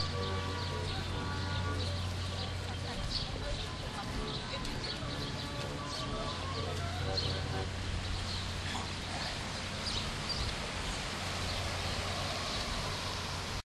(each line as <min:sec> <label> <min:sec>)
0:00.0 carousel 0:09.4